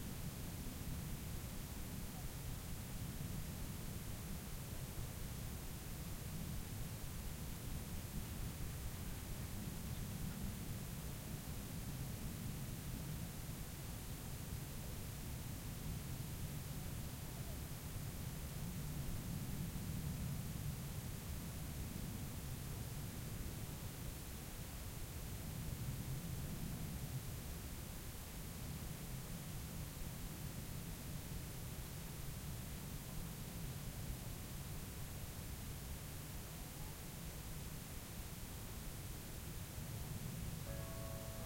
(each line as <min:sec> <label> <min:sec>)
0:00.0 light wind 0:41.4
0:40.6 bell of a village nearby 0:41.4